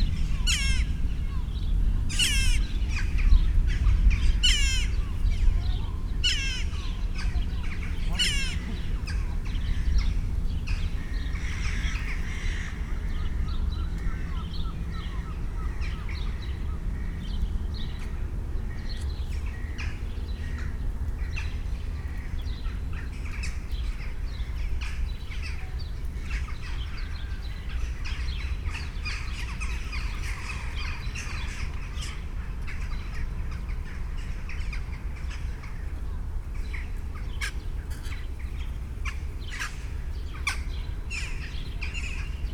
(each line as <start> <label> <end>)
0.0 birds 42.5